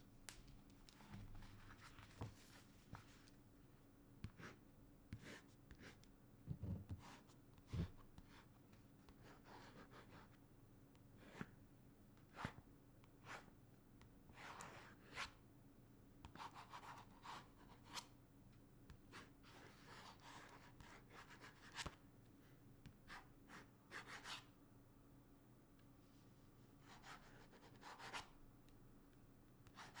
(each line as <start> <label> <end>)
4.2 Writing on a notebook 10.4
11.0 Writing on a notebook 11.6
12.2 Writing on a notebook 15.4
16.2 Writing on a notebook 18.2
18.9 Writing on a notebook 22.0
22.8 Writing on a notebook 24.5
26.8 Writing on a notebook 28.4
29.6 Writing on a notebook 30.0